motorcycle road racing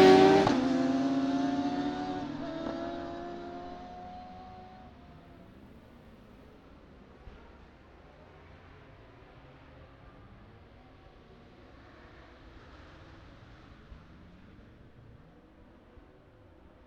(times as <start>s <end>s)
0.0s 6.2s